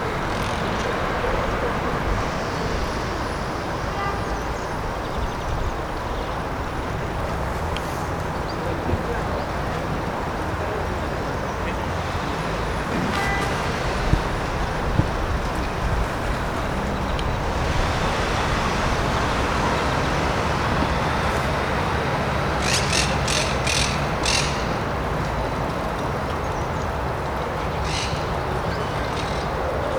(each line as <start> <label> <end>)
5.8 Humans 25.9